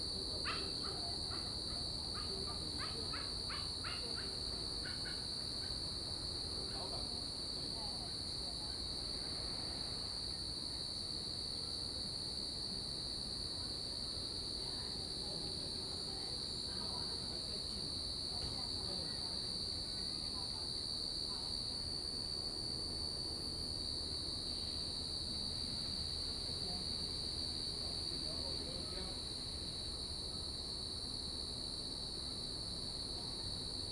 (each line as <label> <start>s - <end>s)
Insects sound 0.0s - 33.9s